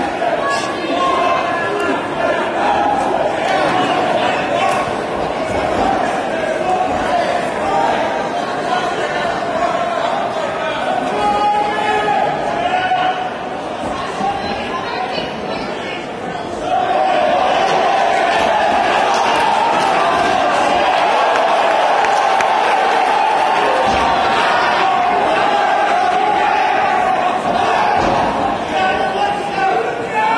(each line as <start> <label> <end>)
0.0 Crowd noise 30.3
16.6 English cheering sounds 30.3
16.6 Yelling 30.3